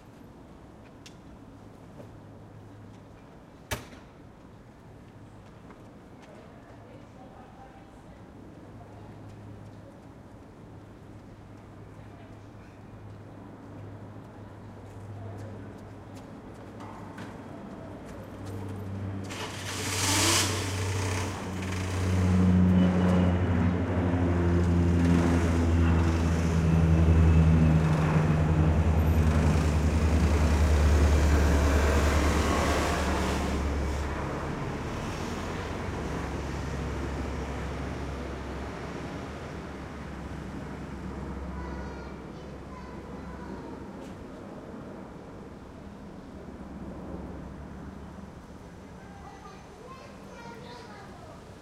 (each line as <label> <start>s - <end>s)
cars passing by in the street 0.0s - 51.6s
jet fighters flying over the silent town 20.6s - 51.6s